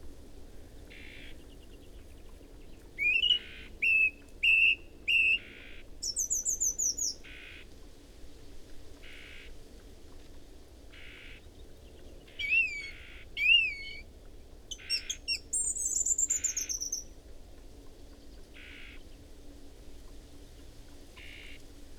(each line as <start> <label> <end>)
0.9 Song thrush singing 7.3
3.0 song and calls from whitethroat 7.6
11.5 Song thrush singing 14.1
12.3 song and calls from whitethroat 14.0
14.7 Song thrush singing 17.2
14.7 song and calls from whitethroat 17.0